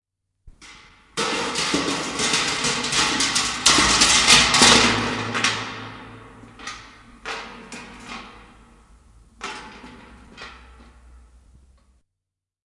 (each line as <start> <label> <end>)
0.5 Metal bucket rolling down the stairs in the staircase, echo 12.0